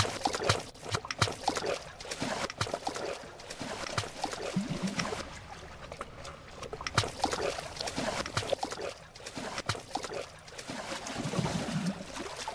sea 0:00.0 - 0:12.5

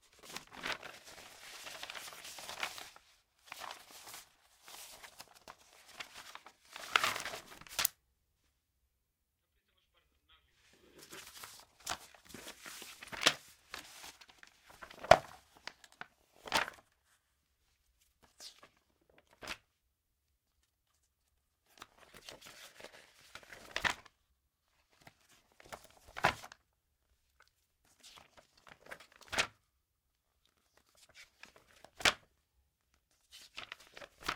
paper handling 0:00.1 - 0:07.9
paper handling 0:11.0 - 0:16.8
paper handling 0:33.3 - 0:34.3

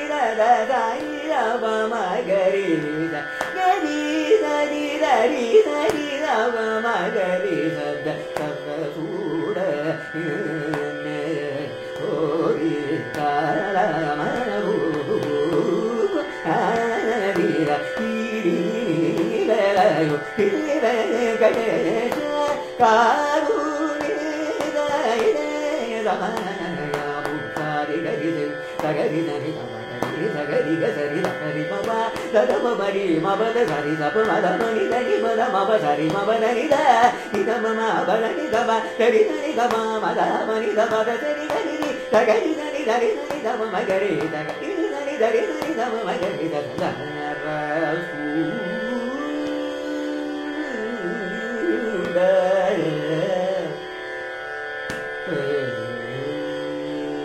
young Carnatic vocalist 0:00.0 - 0:57.2

